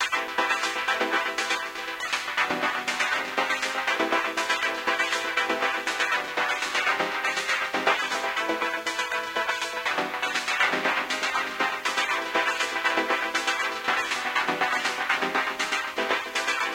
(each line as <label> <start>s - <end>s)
chords 0.0s - 16.7s